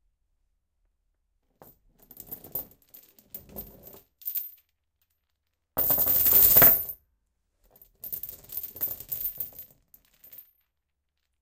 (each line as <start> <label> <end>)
1.6 dropping a chain somewhat slowly on a linoleum floor 7.0
7.7 dropping a chain somewhat slowly on a linoleum floor 11.4